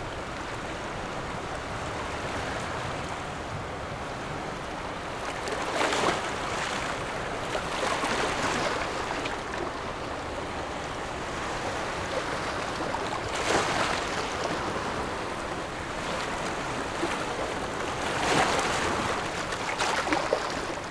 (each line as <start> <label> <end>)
0.0 waves 20.9